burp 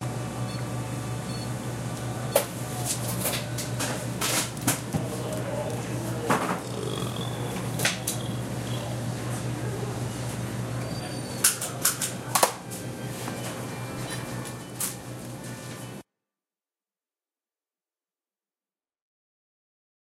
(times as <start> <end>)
5.4 9.0